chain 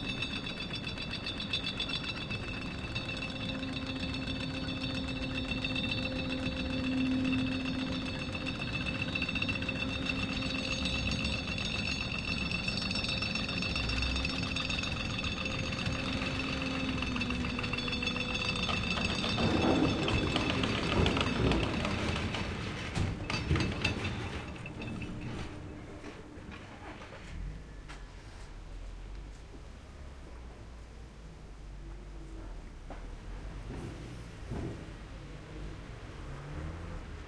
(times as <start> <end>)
0.0 25.8